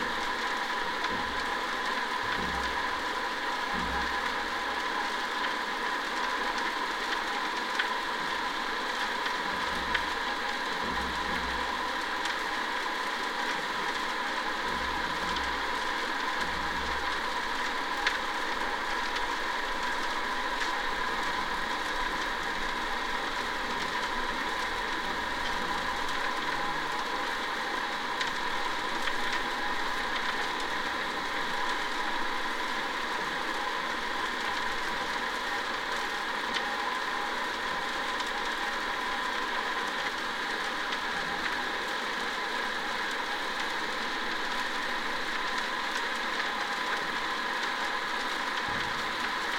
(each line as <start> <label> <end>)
0.0 pump 49.5